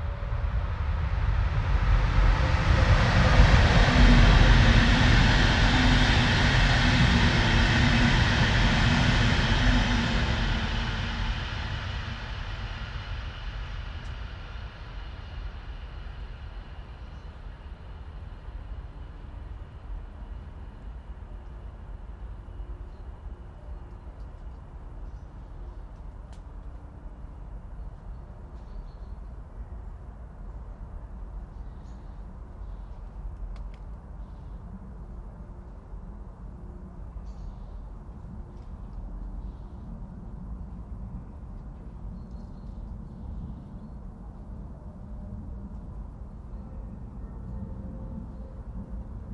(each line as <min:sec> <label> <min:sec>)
0:00.0 a plane roars above 0:27.8
0:00.0 trains 0:49.3